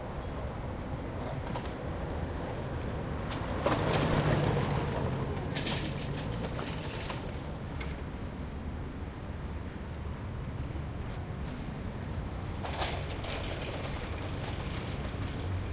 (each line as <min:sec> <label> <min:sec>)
0:00.0 medium to heavy traffic 0:15.7
0:01.2 bikes 0:15.7
0:01.3 scooters 0:08.0
0:11.4 scooters 0:15.7